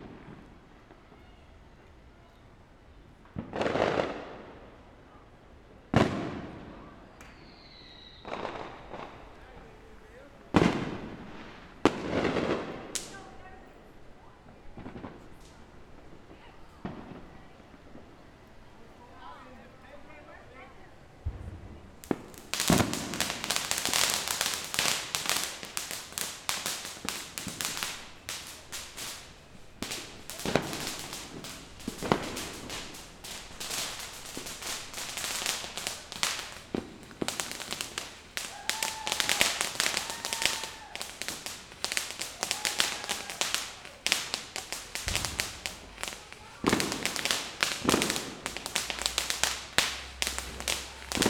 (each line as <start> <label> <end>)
0.0 small fireworks were bursting just above our heads 51.2
22.0 laughing and enthusiasm of everyone celebrating 51.2